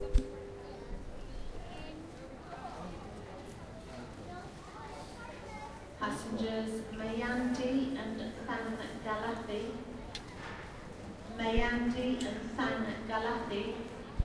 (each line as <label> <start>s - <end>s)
announcement flight female voice 6.0s - 9.8s
announcement flight female voice 11.4s - 13.8s